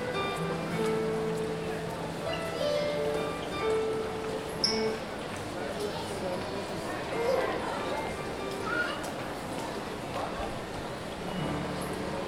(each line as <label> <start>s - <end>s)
piano 0.0s - 5.5s
piano 11.1s - 12.2s